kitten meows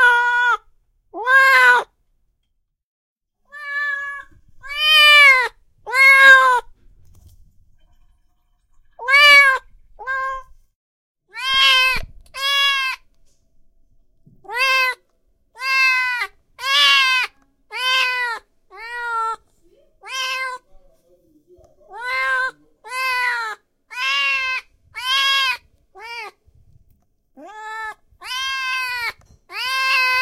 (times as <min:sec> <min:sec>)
0:00.0 0:00.6, 0:01.2 0:01.9, 0:03.5 0:06.7, 0:09.0 0:10.5, 0:11.3 0:13.0, 0:14.5 0:15.0, 0:15.6 0:19.4, 0:20.0 0:20.6, 0:21.9 0:26.4, 0:27.4 0:30.2